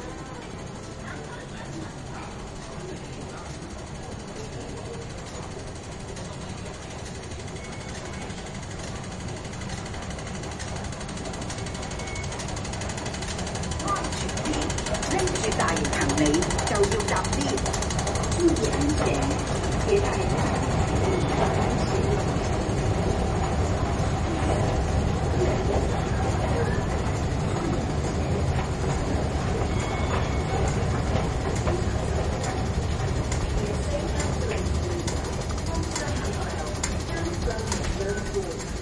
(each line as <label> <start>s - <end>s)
announcement at the escalator 0.0s - 38.8s
escalator 2.4s - 38.8s
confirmation beeps of the entrance/exit gate 11.6s - 12.5s